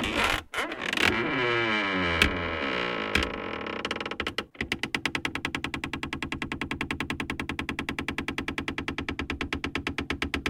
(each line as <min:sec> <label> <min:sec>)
0:00.0 Creaky door 0:05.4